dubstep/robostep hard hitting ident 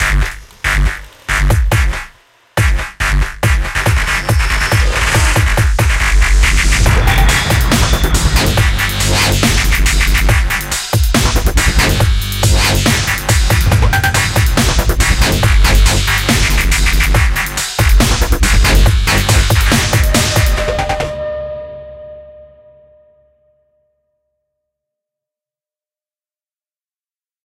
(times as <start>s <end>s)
3.5s 21.9s